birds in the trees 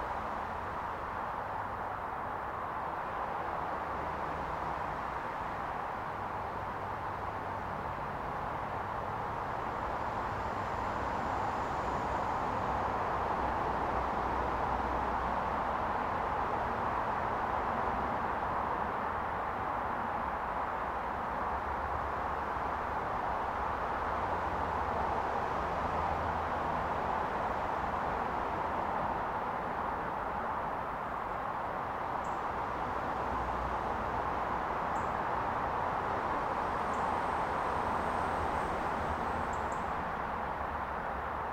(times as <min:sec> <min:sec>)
0:31.0 0:41.5